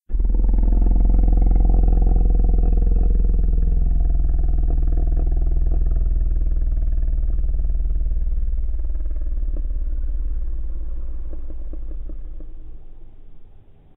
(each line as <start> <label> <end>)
0.0 long monster rumble 13.6